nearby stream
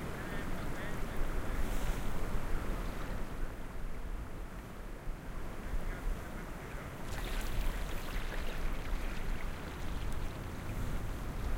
0:06.3 0:11.5

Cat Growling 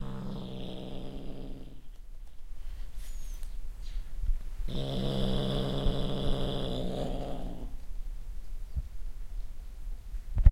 0:00.0 0:01.9, 0:04.7 0:07.8

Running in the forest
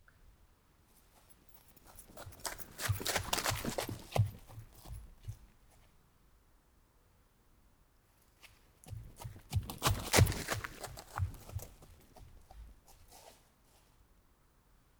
0:01.0 0:06.1, 0:08.4 0:14.0

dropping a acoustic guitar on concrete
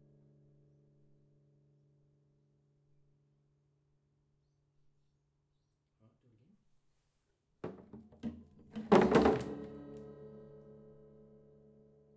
0:07.6 0:10.0

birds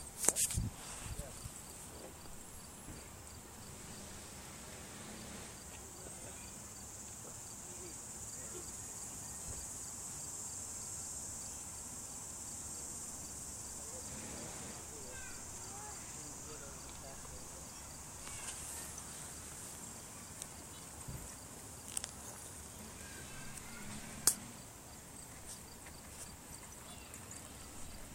0:13.8 0:21.5

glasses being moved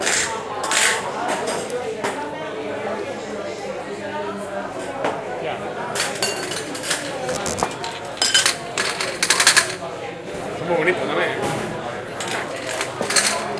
0:07.3 0:07.8

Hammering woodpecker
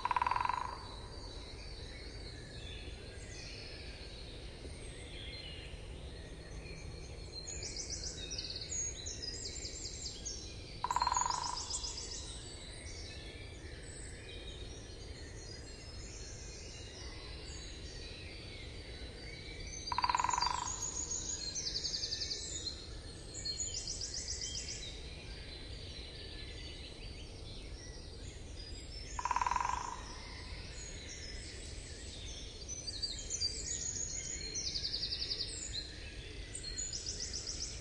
0:00.0 0:00.8, 0:10.8 0:11.8, 0:19.9 0:20.9, 0:29.2 0:30.1

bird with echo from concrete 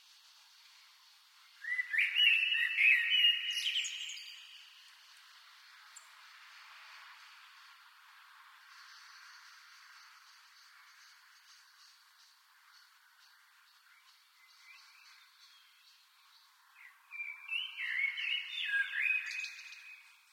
0:01.6 0:04.8, 0:16.8 0:20.3

